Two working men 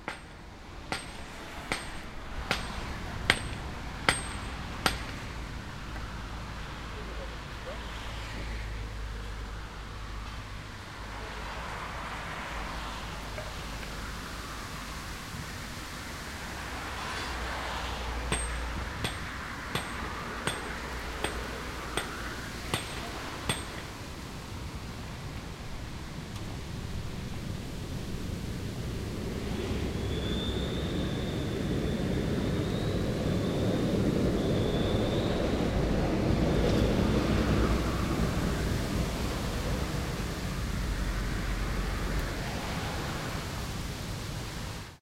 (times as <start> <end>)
0.0 6.3, 18.2 24.1